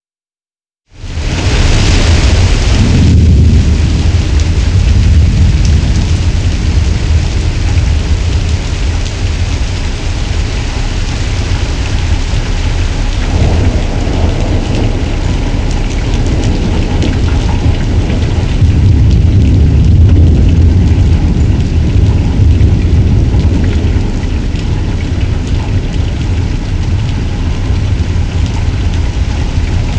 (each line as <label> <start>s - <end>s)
Rain 0.9s - 29.9s
Thunder 1.0s - 29.9s